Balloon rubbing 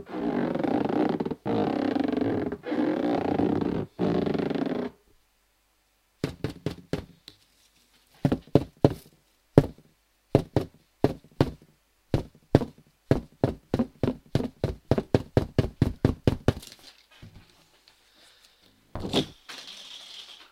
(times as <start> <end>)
0.0 5.0